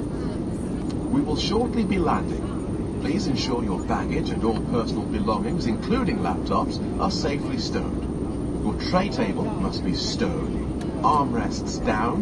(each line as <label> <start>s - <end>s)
airplane 0.0s - 12.2s
englisch announcements 0.3s - 12.2s